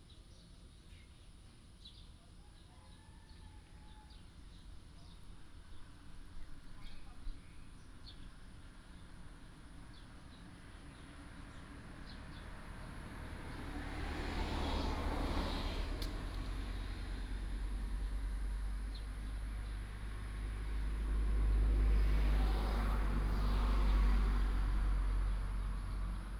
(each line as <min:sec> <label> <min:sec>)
0:00.0 sound of birds 0:26.3
0:04.1 Traffic sound 0:26.3